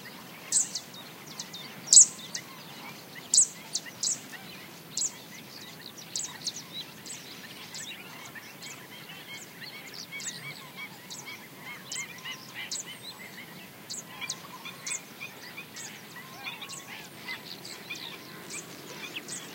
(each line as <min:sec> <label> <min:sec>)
0:00.0 chirps from other birds 0:19.5